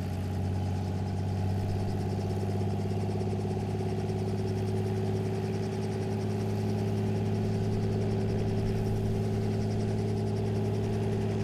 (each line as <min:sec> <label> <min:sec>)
0:00.0 Helicopter preparing for takeoff and then taking off 0:11.4